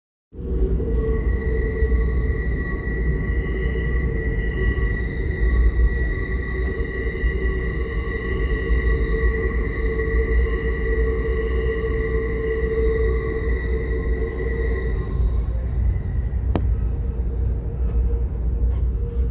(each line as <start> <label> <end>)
0.3 train going through tunnels 19.3